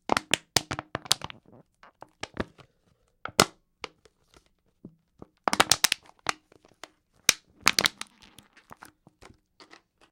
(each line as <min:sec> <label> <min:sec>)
0:00.0 Crushing a plastic soda bottle 0:02.7
0:03.3 Crushing a plastic soda bottle 0:04.5
0:05.2 Crushing a plastic soda bottle 0:10.1